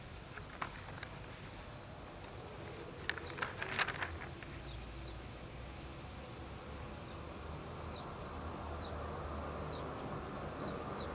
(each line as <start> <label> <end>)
5.7 Cars 11.1